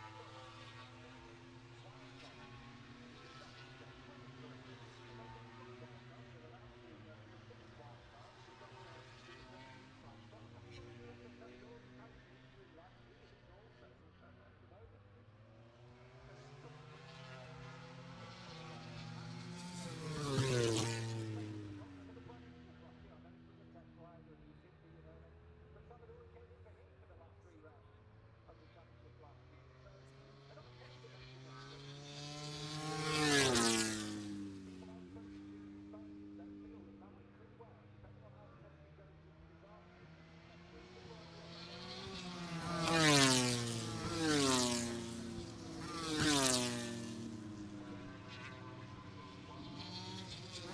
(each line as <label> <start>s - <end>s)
moto grand prix free practice one 0.0s - 50.7s